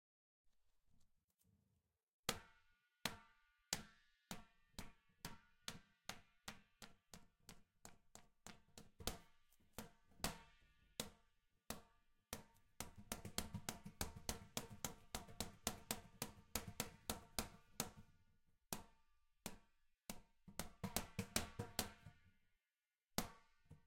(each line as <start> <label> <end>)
3.8 exercise ball bouncing fast on a tiled floor 22.5
23.2 exercise ball bouncing fast on a tiled floor 23.8